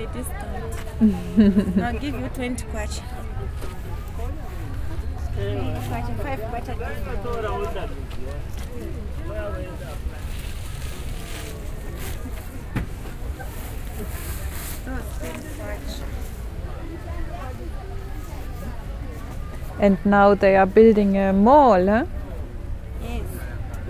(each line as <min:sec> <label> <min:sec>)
0:05.0 Talking to Chitenge traders 0:08.0